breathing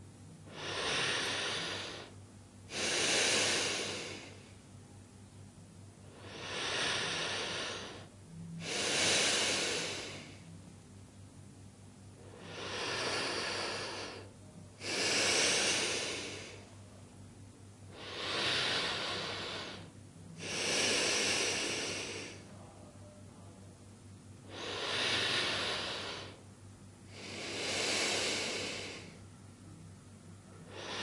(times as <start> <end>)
0.5 4.6, 6.0 10.5, 12.2 16.8, 17.9 22.6, 24.4 26.4, 27.1 29.3, 30.6 31.0